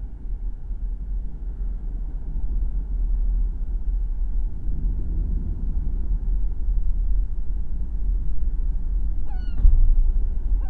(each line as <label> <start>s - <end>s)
sea 0.0s - 10.6s